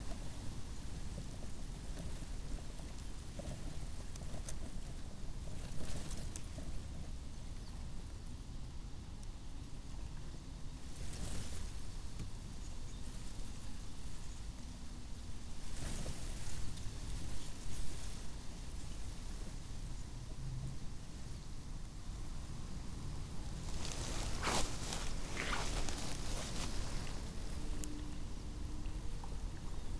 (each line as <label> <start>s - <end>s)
wind 0.0s - 29.9s
Moped 23.6s - 27.6s